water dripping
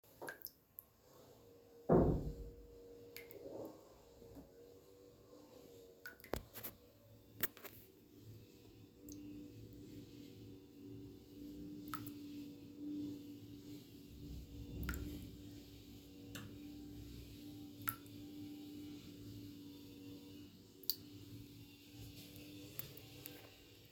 0:00.2 0:00.6, 0:02.1 0:03.4, 0:06.0 0:06.6, 0:11.8 0:12.2, 0:14.7 0:15.1, 0:17.8 0:18.1

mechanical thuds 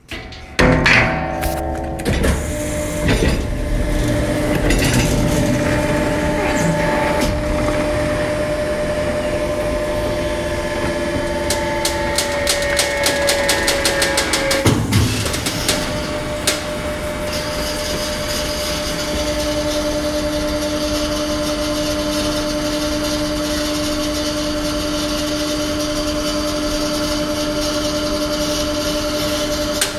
0:00.0 0:07.8

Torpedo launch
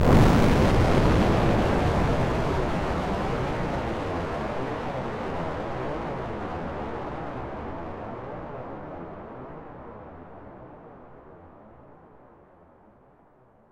0:00.0 0:05.6

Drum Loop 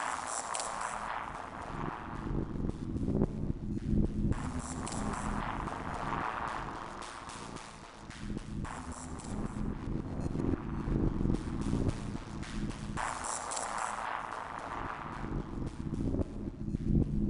0:08.4 0:13.4

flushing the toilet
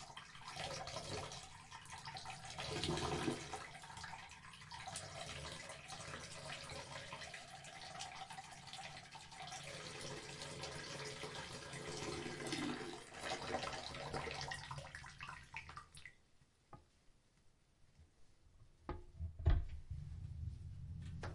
0:00.0 0:16.1

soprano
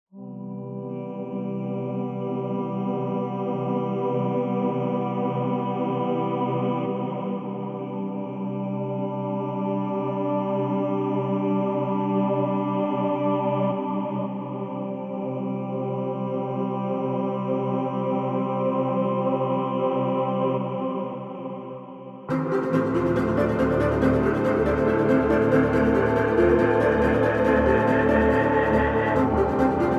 0:22.3 0:29.9

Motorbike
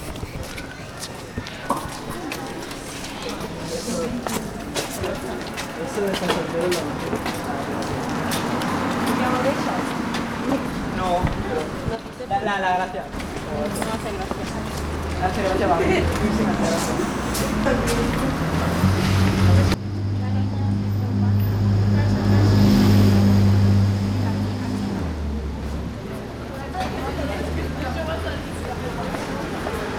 0:14.2 0:28.8

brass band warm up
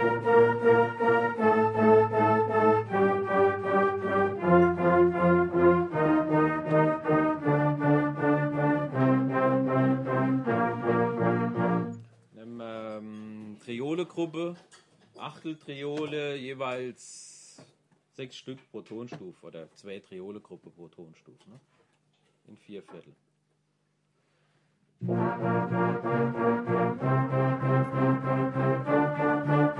0:00.0 0:12.2, 0:25.0 0:29.7

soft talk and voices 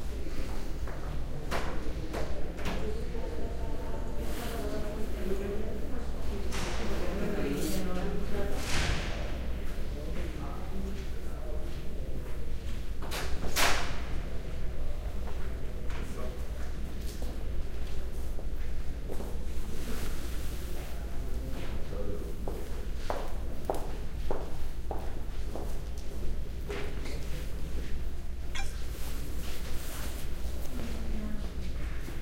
0:00.0 0:23.9

